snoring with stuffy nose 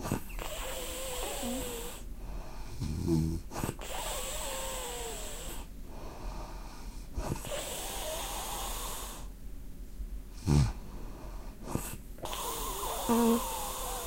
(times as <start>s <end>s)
0.0s 2.1s, 2.7s 5.7s, 7.2s 9.3s, 10.4s 10.8s, 11.6s 14.0s